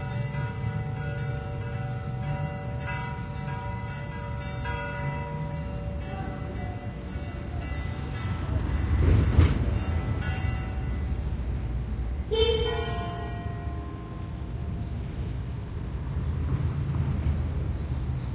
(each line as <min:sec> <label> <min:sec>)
0:00.0 church-bells 0:16.0
0:00.0 cars in the street 0:18.3
0:12.3 horns 0:13.0